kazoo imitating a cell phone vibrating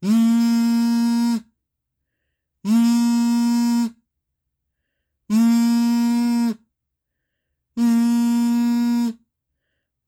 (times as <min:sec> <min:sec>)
0:00.0 0:01.6, 0:02.6 0:04.0, 0:05.3 0:06.7, 0:07.8 0:09.2